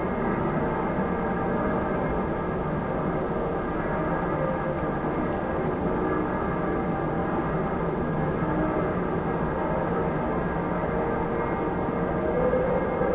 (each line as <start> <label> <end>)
0.0 churchbells 13.1